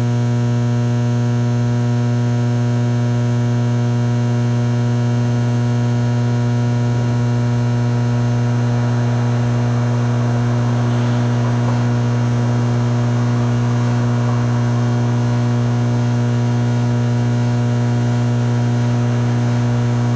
4.2s Ventilation System 20.1s

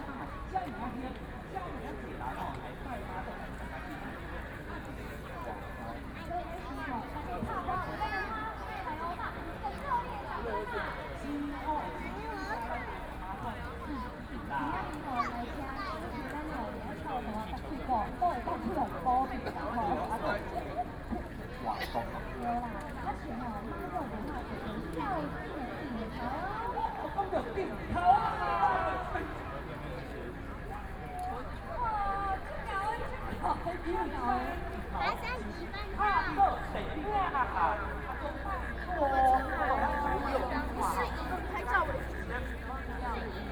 0.0s people waiting for fireworks 43.5s

